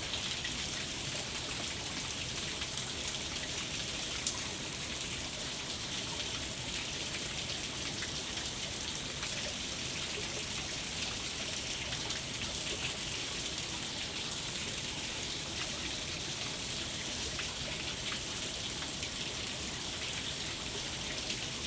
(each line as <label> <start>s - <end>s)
waterfall 0.0s - 21.6s